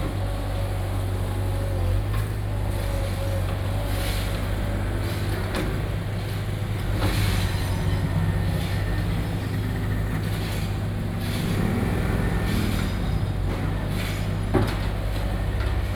Road Construction 0.0 - 15.9
Traffic Sound 0.0 - 15.9

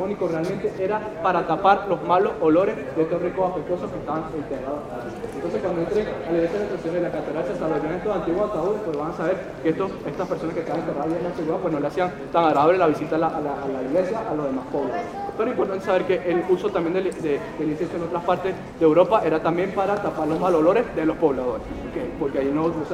guide voice reverberates on the brick facades 13.8 - 22.9

